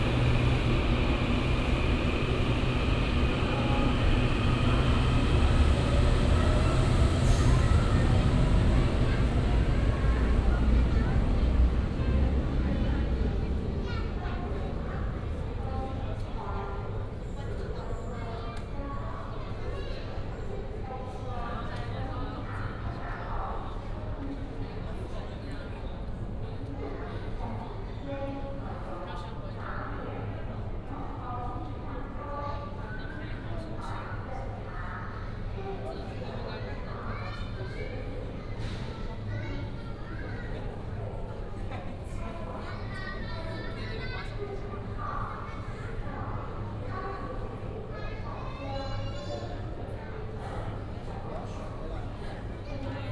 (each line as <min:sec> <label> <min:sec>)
0:00.0 The train passed 0:21.3